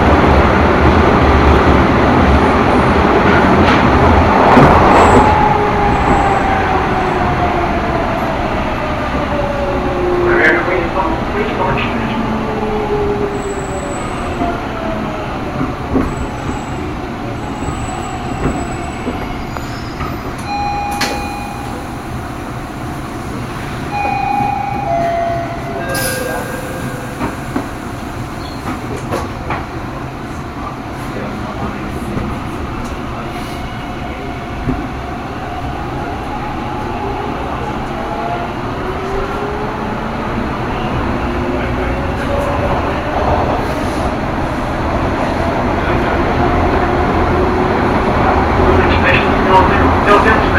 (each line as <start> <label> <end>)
0.0 Subway car stops and starts 50.5
5.2 Station announcements 13.2
12.4 subway chimes 29.9
20.4 Station announcements 29.2
47.6 Station announcements 50.5